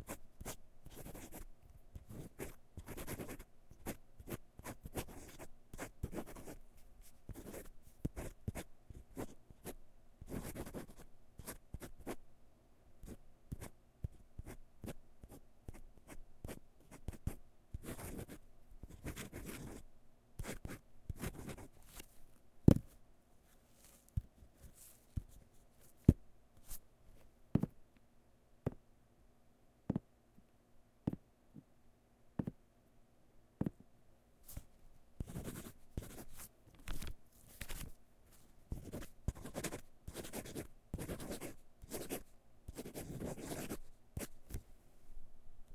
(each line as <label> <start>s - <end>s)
scribbling on paper with a fountain pen 0.0s - 1.4s
scribbling on paper with a fountain pen 2.0s - 6.6s
scribbling on paper with a fountain pen 7.3s - 12.2s
scribbling on paper with a fountain pen 16.5s - 19.8s
scribbling on paper with a fountain pen 20.4s - 21.7s
flipping a few pages 21.8s - 26.0s
scribbling on paper with a fountain pen 35.2s - 36.3s
flipping a few pages 36.3s - 38.5s
scribbling on paper with a fountain pen 38.7s - 44.3s